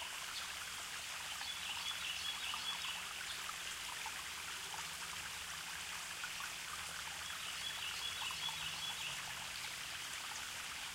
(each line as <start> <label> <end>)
0.0 small creek 10.9